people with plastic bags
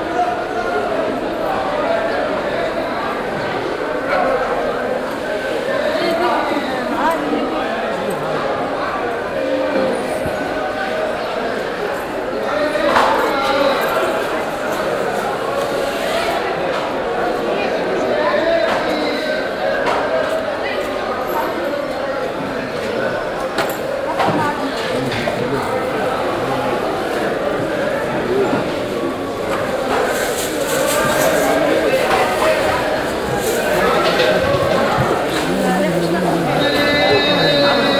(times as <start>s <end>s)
21.3s 37.9s